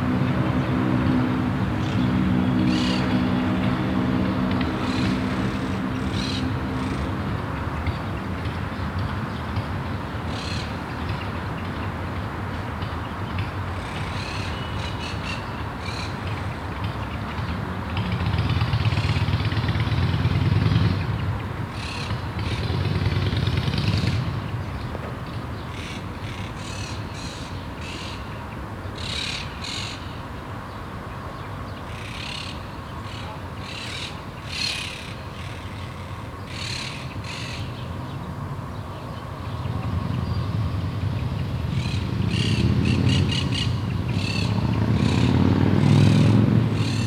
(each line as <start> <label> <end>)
0.0 birds in the high palm trees 47.0
0.0 cars 47.0
0.0 motorcycles from the nearby street 47.0